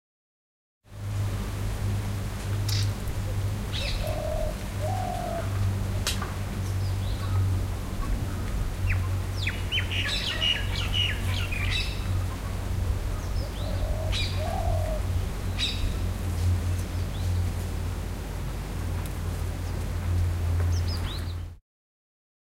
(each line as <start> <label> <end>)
2.7 birds in the background 18.0
19.5 birds in the background 21.6